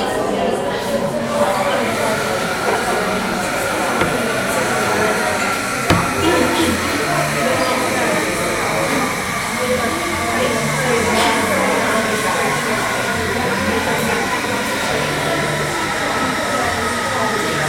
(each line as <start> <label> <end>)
0.0 many indistinct conversations 17.6
1.3 coffee machine 17.6
1.8 crockery 7.6